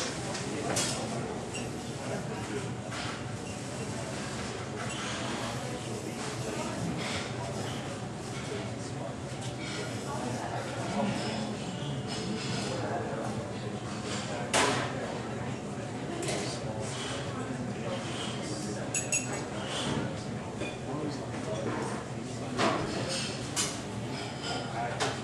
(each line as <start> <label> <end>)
0.0 Crowd 25.2